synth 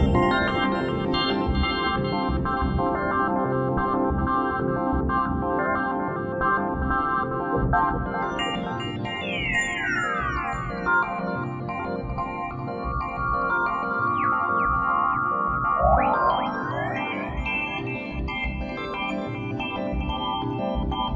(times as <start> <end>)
8.3 21.1